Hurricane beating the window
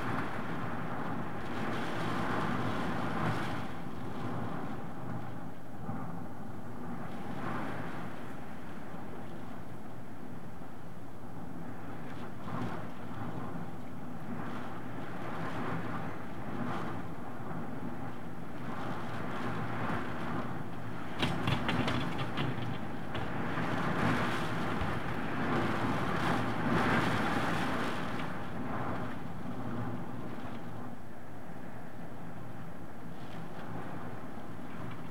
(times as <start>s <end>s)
14.3s 30.9s